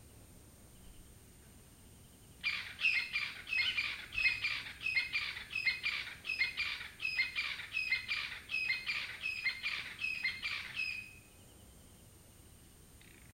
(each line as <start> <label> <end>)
2.4 unknown bird 11.4